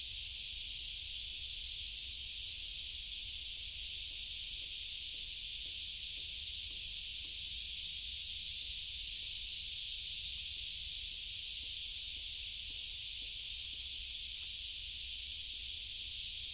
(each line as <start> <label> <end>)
0.0 distant Cicadas 16.5